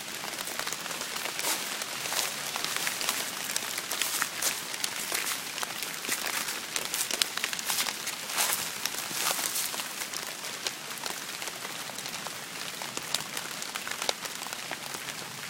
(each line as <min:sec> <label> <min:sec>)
0:00.0 leaves 0:15.4
0:00.0 rain 0:15.4